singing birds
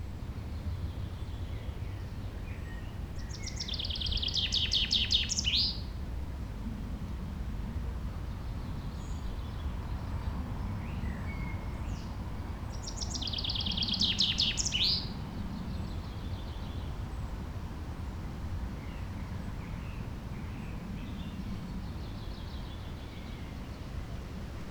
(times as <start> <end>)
2.6 5.8, 10.7 16.9